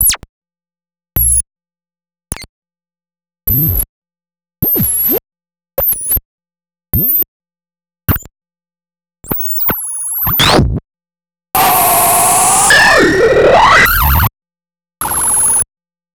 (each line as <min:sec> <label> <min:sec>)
0:11.6 Electronic blips n yips 0:14.3